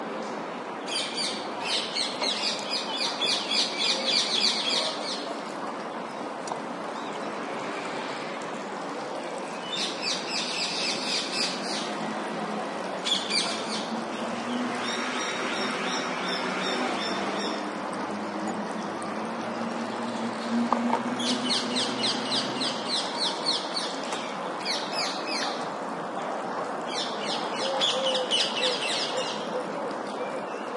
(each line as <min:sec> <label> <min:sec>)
0:00.0 traffic rumble 0:30.7